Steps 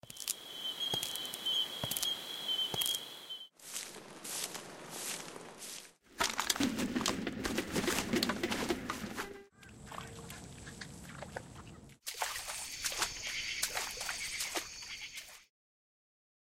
0:00.1 0:09.5

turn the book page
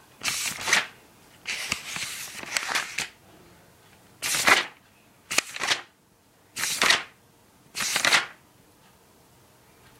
0:00.2 0:03.2, 0:04.2 0:05.9, 0:06.6 0:07.1, 0:07.8 0:08.4

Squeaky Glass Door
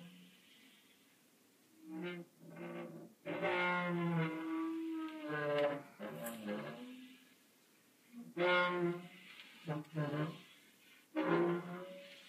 0:01.9 0:07.2, 0:11.2 0:12.2

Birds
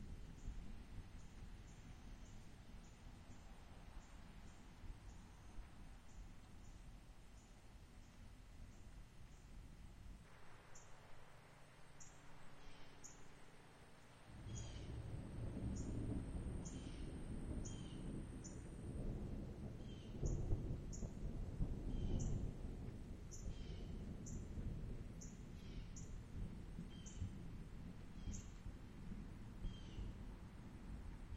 0:12.0 0:18.7

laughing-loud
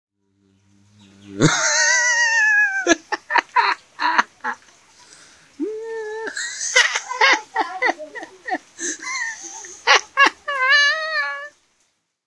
0:01.4 0:04.7, 0:05.6 0:11.5

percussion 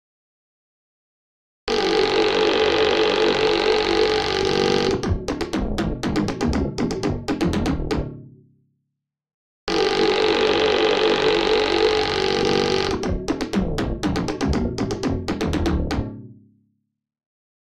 0:05.0 0:08.2, 0:13.0 0:16.2

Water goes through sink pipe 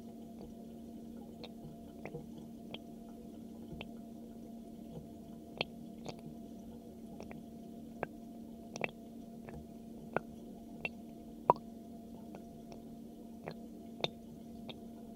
0:00.0 0:11.6

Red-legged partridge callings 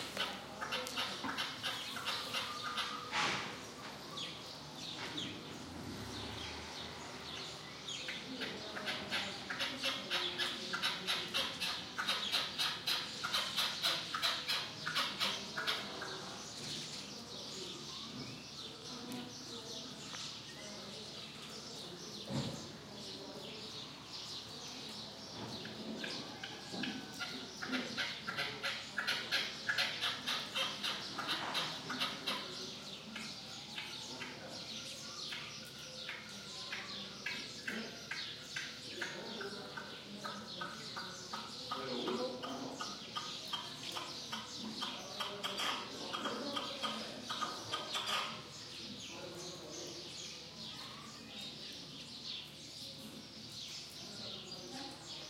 0:00.0 0:03.2, 0:08.0 0:16.4, 0:25.6 0:48.6

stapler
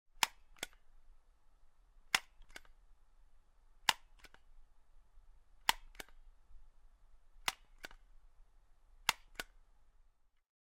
0:02.1 0:02.8, 0:03.9 0:04.5, 0:05.6 0:06.2, 0:07.4 0:08.1, 0:09.0 0:09.6

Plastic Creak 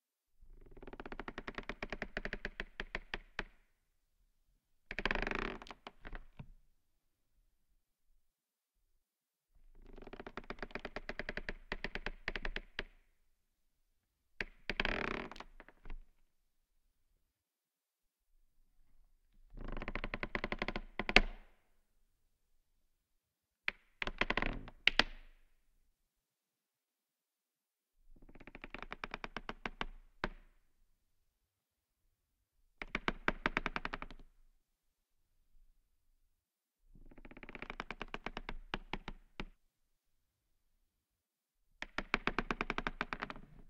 0:04.9 0:06.1, 0:41.9 0:43.6

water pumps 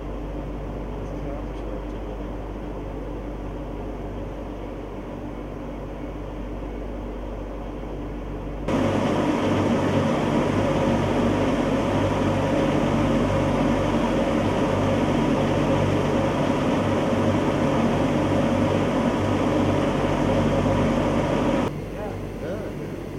0:08.7 0:21.7

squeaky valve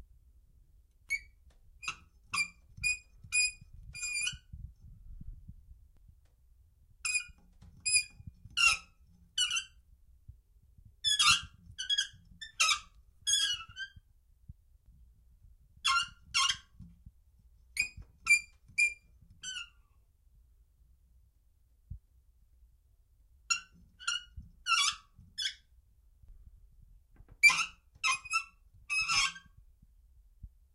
0:01.1 0:04.4, 0:07.1 0:09.7, 0:11.0 0:14.0, 0:17.8 0:19.8, 0:27.4 0:29.5

